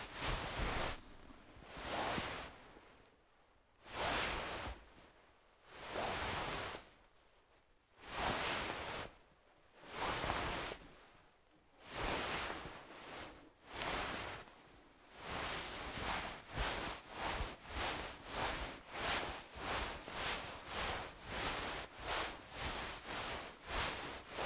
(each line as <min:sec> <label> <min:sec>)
0:00.0 fabric/clothes movement 0:03.0
0:08.0 fabric/clothes movement 0:09.1
0:09.8 fabric/clothes movement 0:11.1
0:11.8 fabric/clothes movement 0:24.4